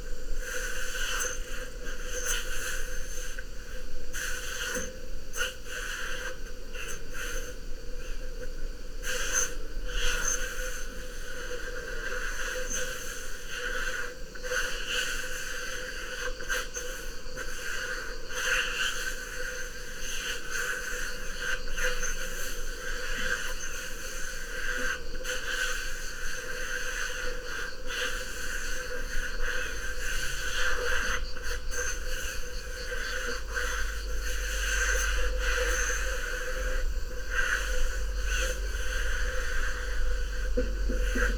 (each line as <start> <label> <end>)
0.0 cicadas 41.3
21.0 wind 41.3